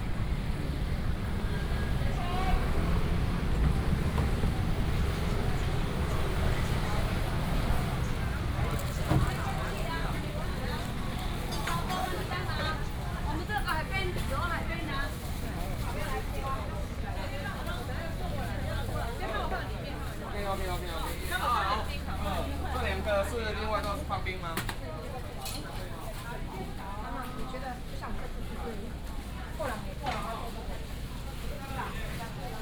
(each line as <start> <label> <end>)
0.0 Walking through the Street 32.6
0.0 variety of vendors 32.6